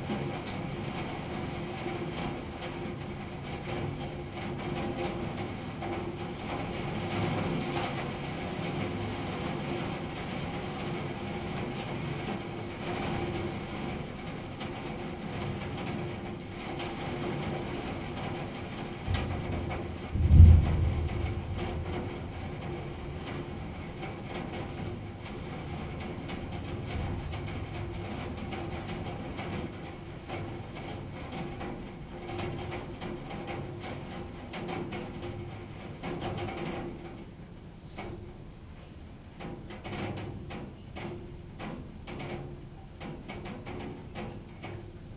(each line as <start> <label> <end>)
0.0 rain on the window 45.1
19.0 thunder 25.2